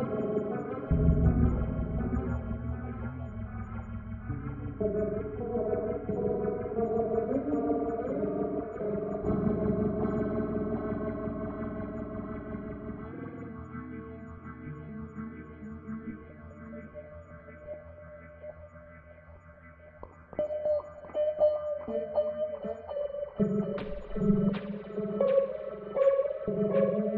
0.0s electric guitar 27.1s

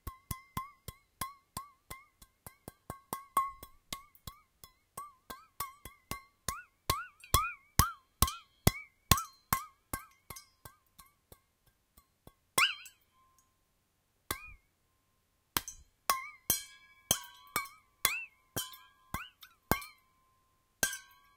0.0s Stainless Steel Bottle with Water Percussion 13.6s
14.3s Stainless Steel Bottle with Water Percussion 14.7s
15.5s Stainless Steel Bottle with Water Percussion 21.3s

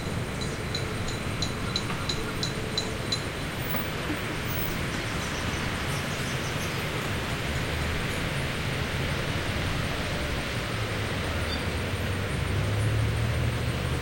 0.0s River 14.0s

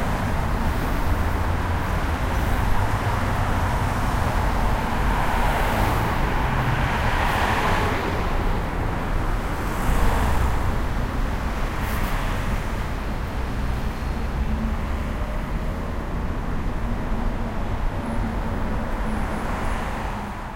0.0s traffic very close 16.2s

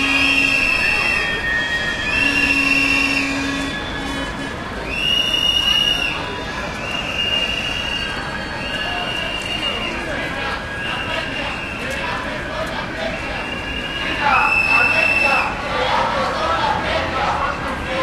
0.0s whistling 12.0s
0.0s city noise 18.0s
10.0s people shouting slogans 18.0s
13.4s whistling 15.5s

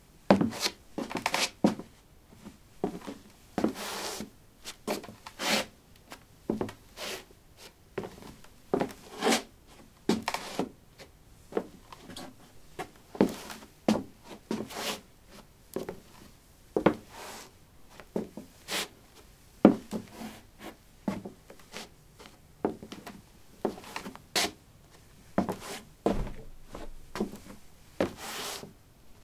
11.5s Shuffling on a wooden floor 18.9s
19.7s Shuffling on a wooden floor 28.7s

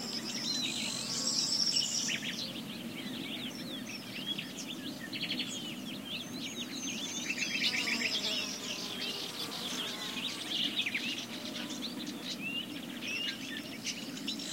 0.0s bees 2.2s
7.2s bees 13.4s

